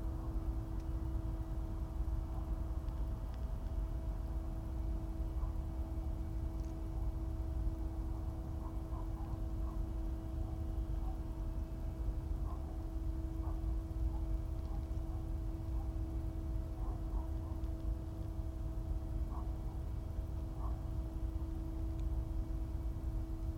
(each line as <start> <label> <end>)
8.6 owls 9.8
16.7 owls 17.6
19.3 owls 19.6